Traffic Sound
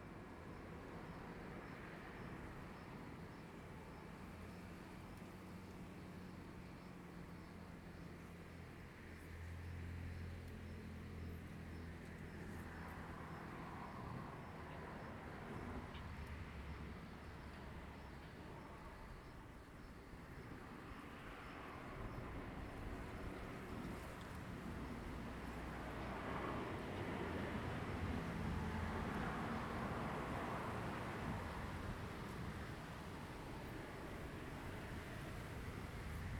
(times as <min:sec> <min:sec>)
0:20.2 0:36.3